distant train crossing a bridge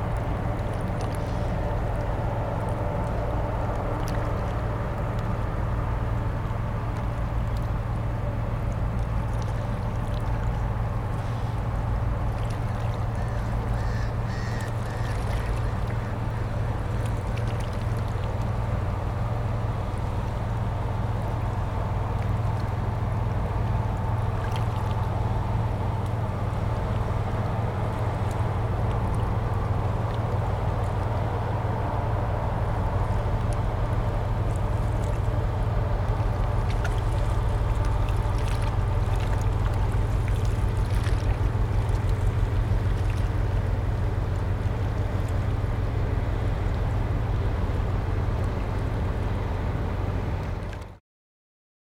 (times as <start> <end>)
13.1 17.2